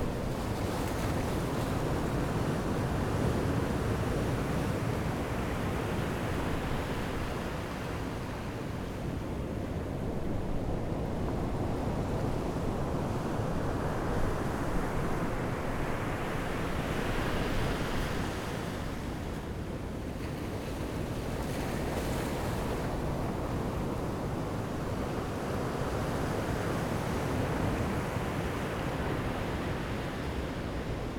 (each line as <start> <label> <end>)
0.0 waves 31.1